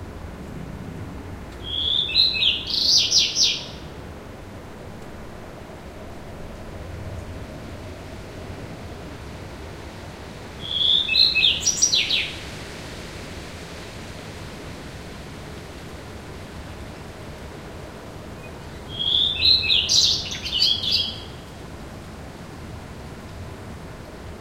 1.6s birdsong 3.9s
10.6s birdsong 12.4s
18.4s birdsong 21.5s

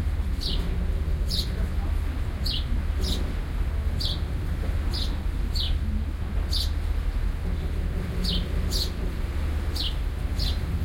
0.0s waves 10.8s
0.4s sparrows 1.6s
2.4s sparrows 3.4s
4.0s sparrows 4.3s
4.9s sparrows 5.8s
6.4s sparrows 6.8s
8.2s sparrows 9.0s
9.7s sparrows 10.7s

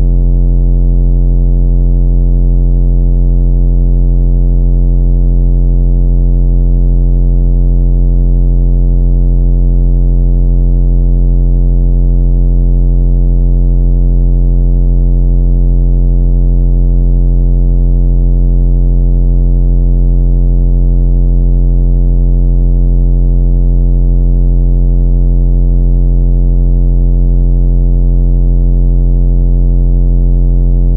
0.0s bass 0.7s
30.7s bass 30.9s

